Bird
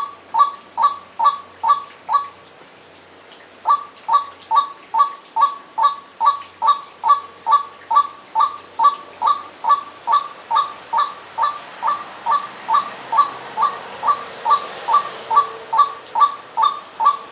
3.7 17.3

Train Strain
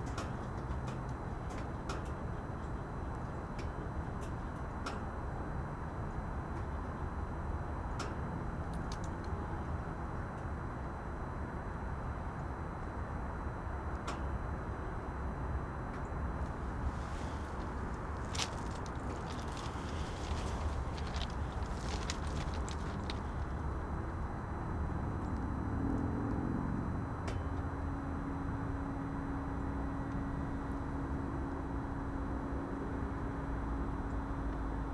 16.5 23.7

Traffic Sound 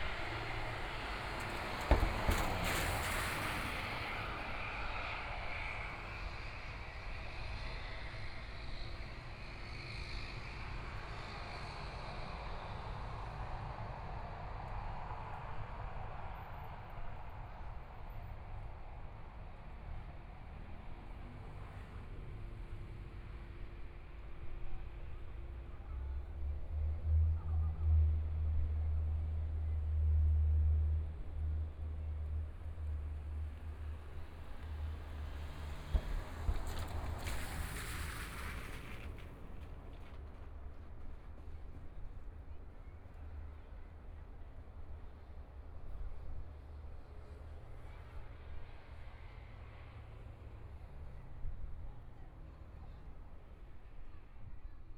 0.0 12.4, 24.8 53.7

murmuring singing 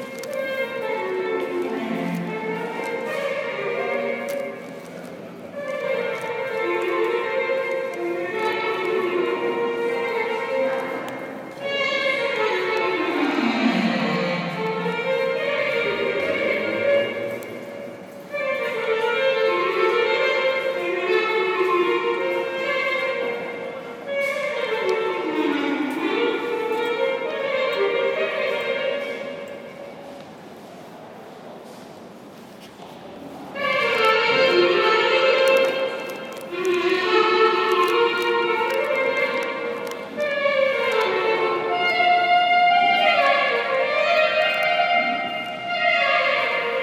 8.1 17.8

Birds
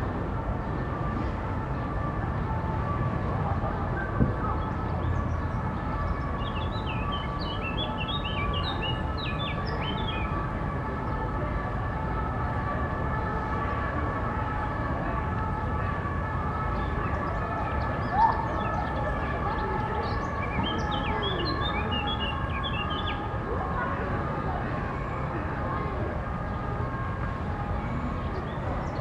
0.6 11.3, 16.0 24.3

